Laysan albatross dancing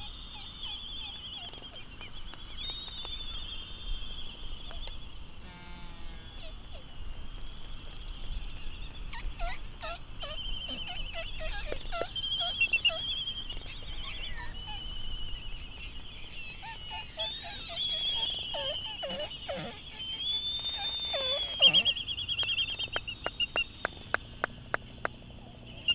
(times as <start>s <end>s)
16.6s 25.9s